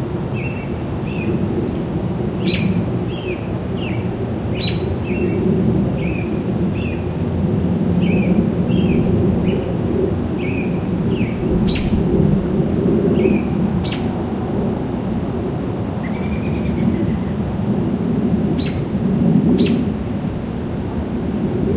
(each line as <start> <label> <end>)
8.0 birds 12.5